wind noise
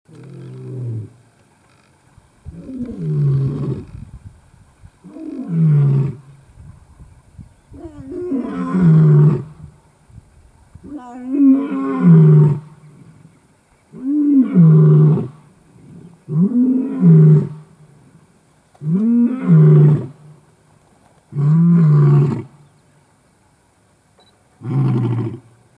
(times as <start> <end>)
2.2 5.1, 6.2 8.6, 9.4 11.3